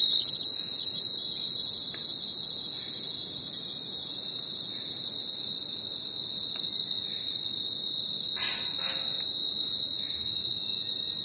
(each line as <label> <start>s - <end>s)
wind 0.0s - 11.2s
animals 8.4s - 9.2s